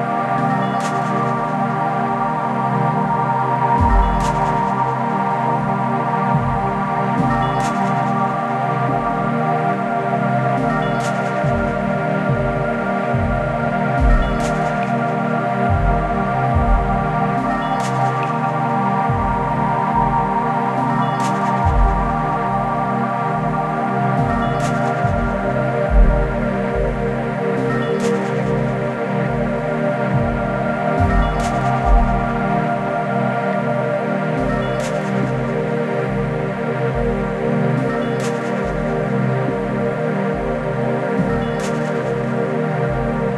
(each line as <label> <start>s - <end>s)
synth 0.0s - 43.3s